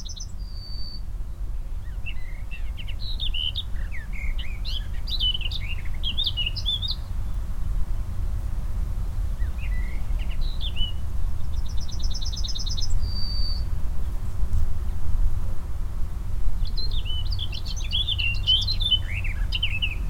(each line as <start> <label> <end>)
0.0 Eurasian Blackcap singing into a thicket 20.0